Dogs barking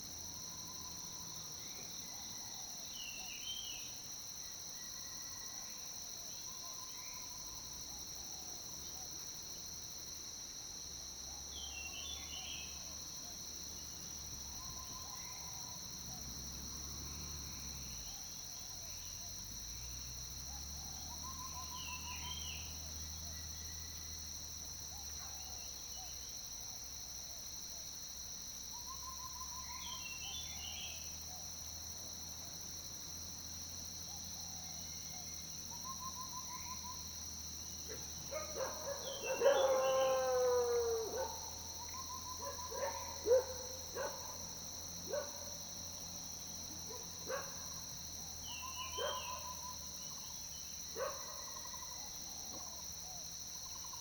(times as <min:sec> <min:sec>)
0:37.9 0:41.6, 0:42.3 0:44.4, 0:45.1 0:45.5, 0:46.9 0:47.6, 0:48.9 0:49.6, 0:51.0 0:51.5